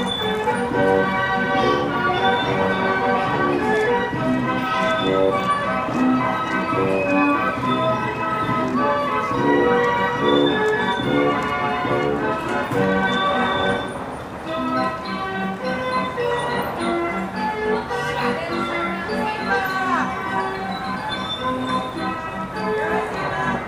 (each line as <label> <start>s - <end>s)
reverse beeping sound from construction vehicles 0.0s - 1.0s
buses (gasoline and electric) 0.0s - 23.6s
carousel music 0.0s - 23.6s
reverse beeping sound from construction vehicles 2.0s - 3.2s
reverse beeping sound from construction vehicles 4.6s - 8.6s
reverse beeping sound from construction vehicles 10.0s - 11.4s
reverse beeping sound from construction vehicles 12.8s - 14.0s
reverse beeping sound from construction vehicles 14.6s - 17.0s
reverse beeping sound from construction vehicles 17.8s - 22.7s